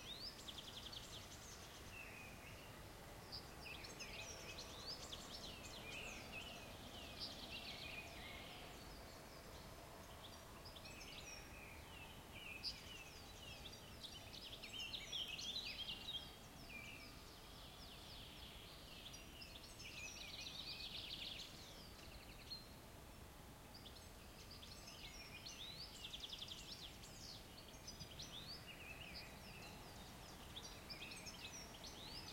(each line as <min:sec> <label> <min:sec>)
0:00.0 birdsong 0:32.3